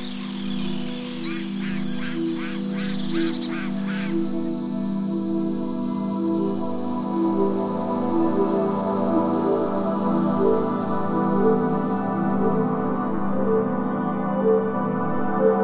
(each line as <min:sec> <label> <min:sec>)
0:00.0 sounds from living creatures 0:15.6